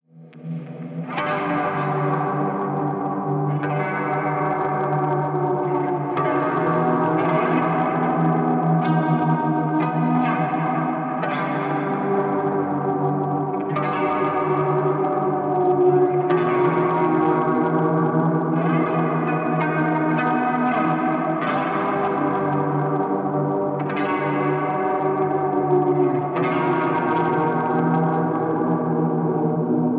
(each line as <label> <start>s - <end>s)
Shoegaze Guitar 0.1s - 29.9s